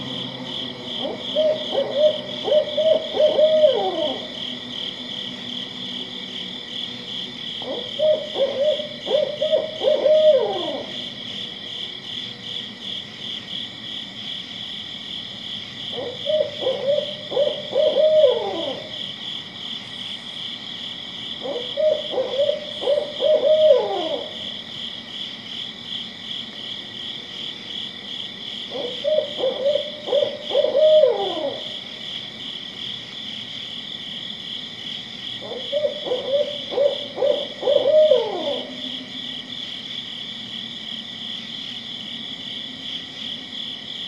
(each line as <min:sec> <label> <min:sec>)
0:00.0 vehicles from a highway 0:02.4
0:00.0 Crickets are chirping 0:44.0
0:00.0 Soft droning of a couple planes flying by 0:44.0
0:00.0 a few other insects make some sounds 0:44.0
0:01.0 Barred Owl calling 0:04.6
0:07.6 Barred Owl calling 0:11.1
0:15.9 Barred Owl calling 0:19.0
0:21.4 Barred Owl calling 0:24.5
0:28.7 Barred Owl calling 0:31.9
0:35.4 Barred Owl calling 0:39.2